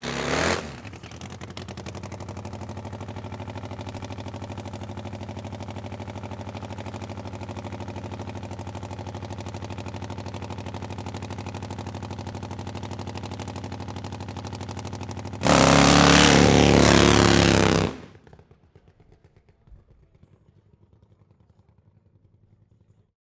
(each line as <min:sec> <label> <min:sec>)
0:00.0 Drag Race 0:18.2